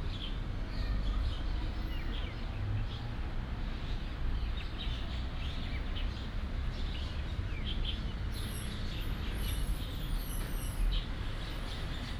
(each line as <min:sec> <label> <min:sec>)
0:00.2 Traffic sound 0:12.1